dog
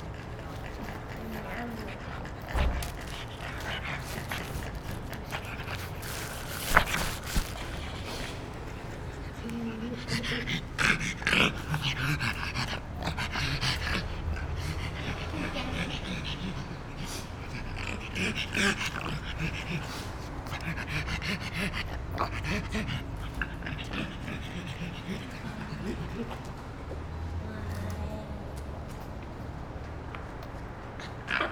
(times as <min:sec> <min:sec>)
0:00.0 0:08.3